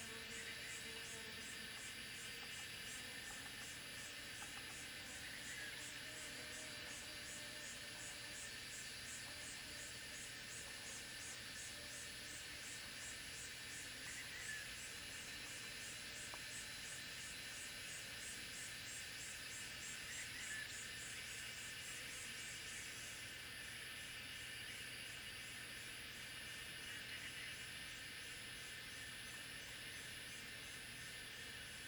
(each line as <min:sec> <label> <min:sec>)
0:00.0 Cicada sounds 0:31.8